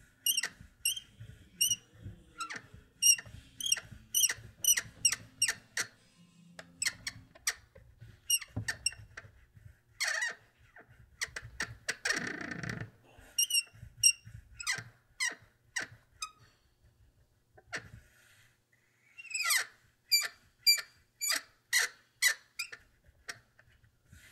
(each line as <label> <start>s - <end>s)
squeaks from a wooden cabinet door 0.2s - 1.8s
squeaks from a wooden cabinet door 2.4s - 6.0s
squeaks from a wooden cabinet door 6.8s - 9.2s